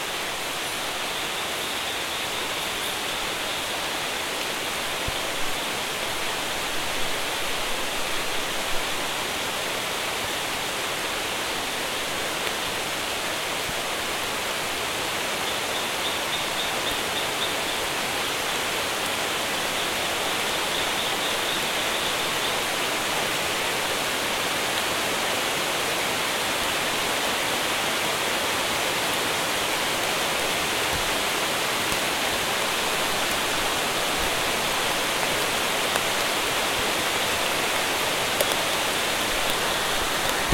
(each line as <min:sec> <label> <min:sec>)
0:00.0 rain 0:40.5